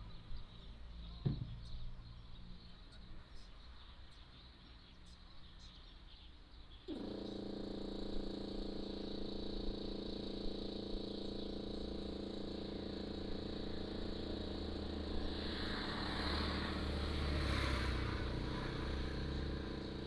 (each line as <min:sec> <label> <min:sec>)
0:00.0 Birds singing 0:20.0
0:00.2 Construction 0:02.3
0:06.9 Construction 0:20.0
0:14.5 Traffic Sound 0:20.0